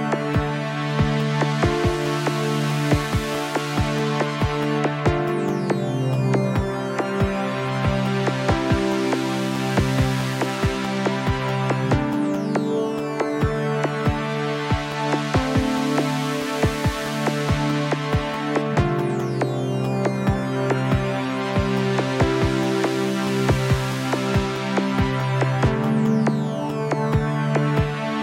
synth 0:00.0 - 0:28.2

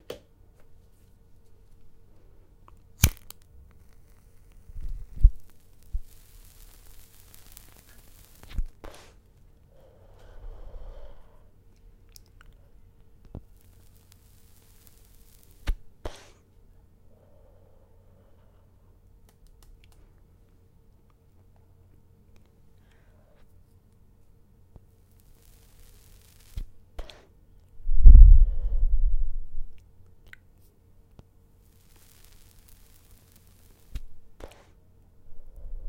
tabacco burning sounds 0:01.7 - 0:16.5
tabacco burning sounds 0:24.7 - 0:28.5
tabacco burning sounds 0:30.6 - 0:35.8

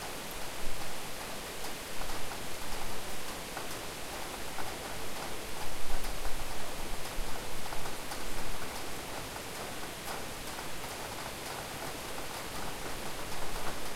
rain 0:00.0 - 0:13.9

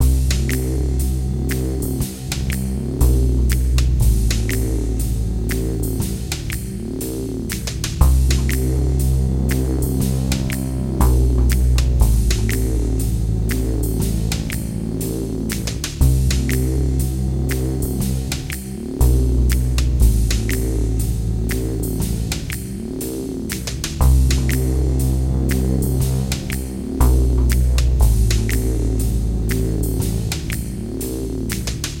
drum 0:00.0 - 0:32.0

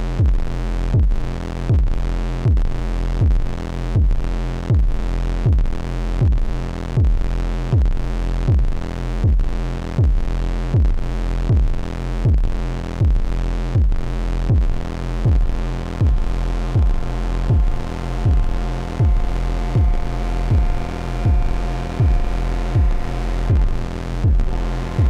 feedbacks 0:12.8 - 0:25.0
Drone 0:14.0 - 0:25.0

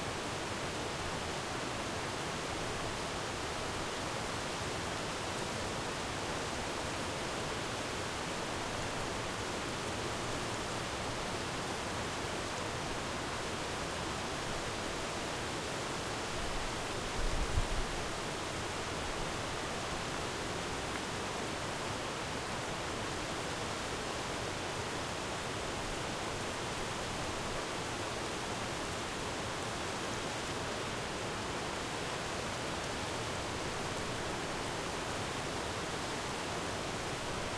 River 0:00.0 - 0:37.5
big waterfall 0:00.0 - 0:37.5
little waterfall 0:00.0 - 0:37.5

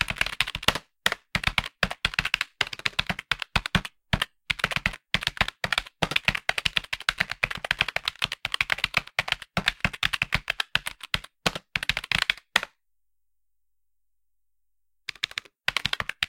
Typing on computer keyboard 0:00.0 - 0:12.7
Typing on computer keyboard 0:15.1 - 0:16.2

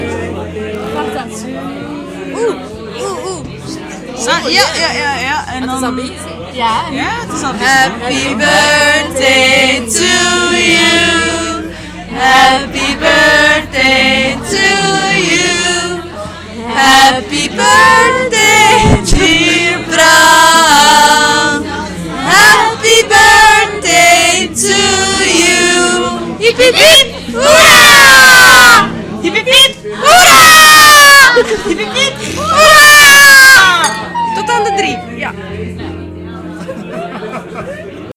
chant 0:07.4 - 0:38.1

